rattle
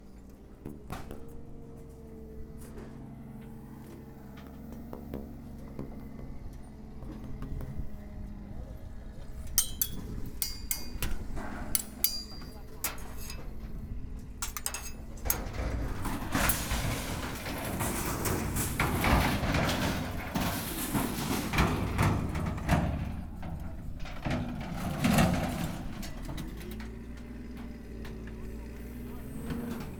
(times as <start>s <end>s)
9.6s 27.8s